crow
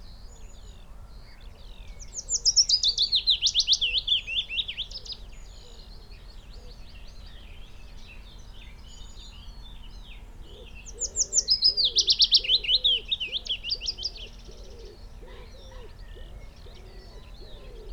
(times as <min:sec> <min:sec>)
0:14.5 0:17.9